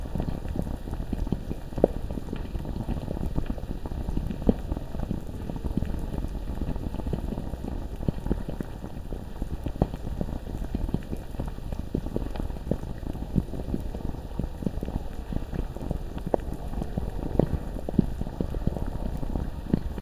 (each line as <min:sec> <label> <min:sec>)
0:00.0 bubbling 0:20.0